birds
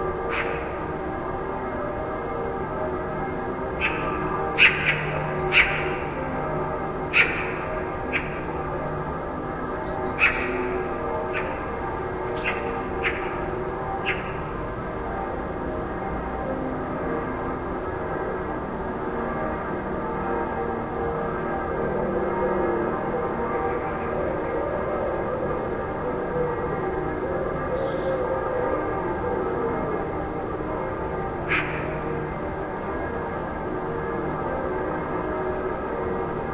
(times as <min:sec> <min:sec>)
0:00.3 0:00.8, 0:03.8 0:06.4, 0:07.1 0:08.8, 0:09.6 0:15.0, 0:27.3 0:28.6, 0:31.5 0:32.2